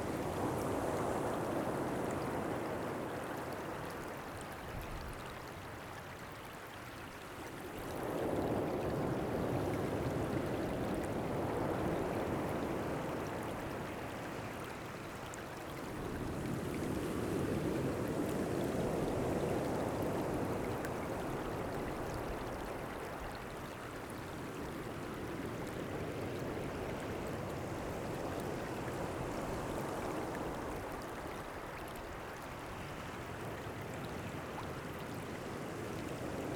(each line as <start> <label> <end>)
0.0 waves 36.5